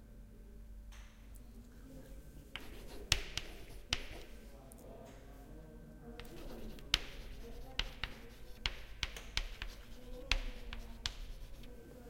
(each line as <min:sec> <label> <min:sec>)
0:02.5 writing with a piece of chalk on a blackboard 0:04.6
0:06.2 writing with a piece of chalk on a blackboard 0:12.0